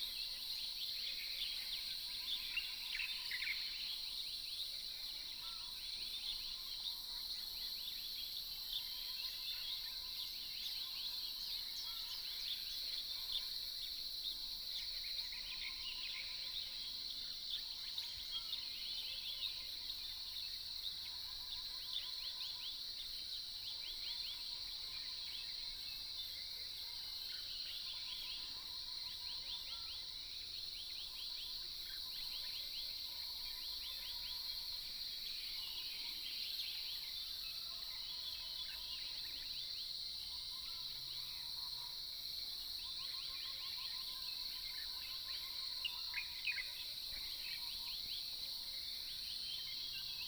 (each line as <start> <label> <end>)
0.0 Insects sounds 50.2
14.9 Croak sounds 50.2